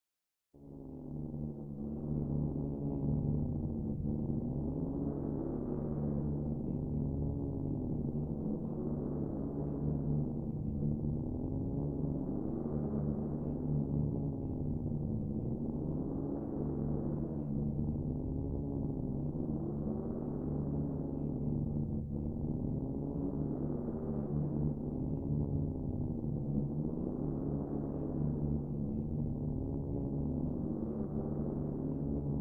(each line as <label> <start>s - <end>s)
drone 0.6s - 32.4s